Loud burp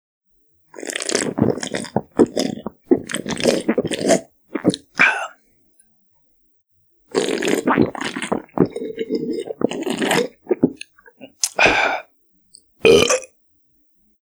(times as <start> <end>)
12.8 13.3